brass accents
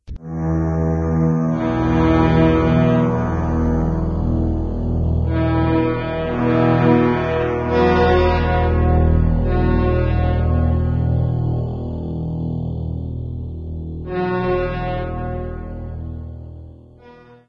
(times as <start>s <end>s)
5.3s 11.0s, 14.1s 16.3s